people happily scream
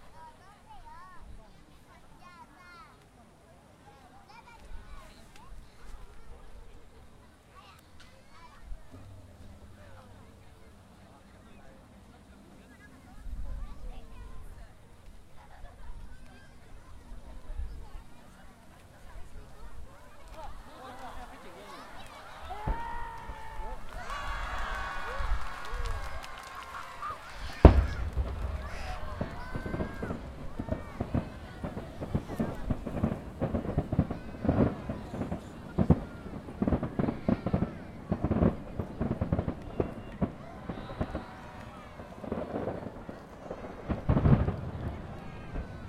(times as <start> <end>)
22.4 30.8